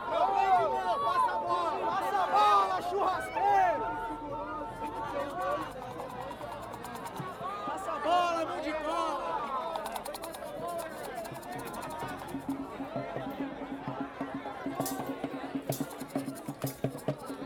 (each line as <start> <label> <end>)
7.0 peaceful legalise marijuana march 17.4